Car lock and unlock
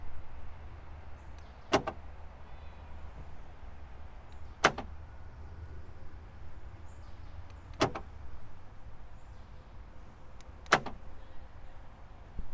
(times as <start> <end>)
1.3 2.1, 4.3 5.0, 7.4 8.2, 10.3 11.2